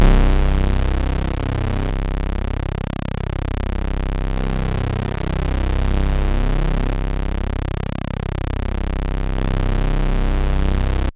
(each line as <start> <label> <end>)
0.0 synth 11.0